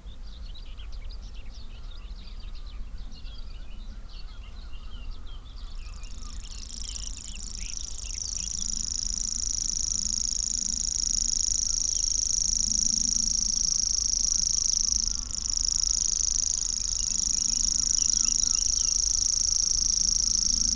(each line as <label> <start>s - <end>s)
Grasshopper warbler 6.0s - 20.7s
reed bunting 7.2s - 20.7s